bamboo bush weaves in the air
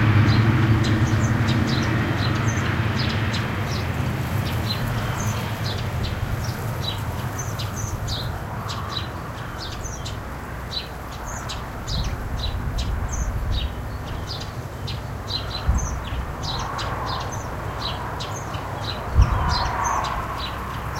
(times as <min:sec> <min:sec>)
0:02.7 0:09.4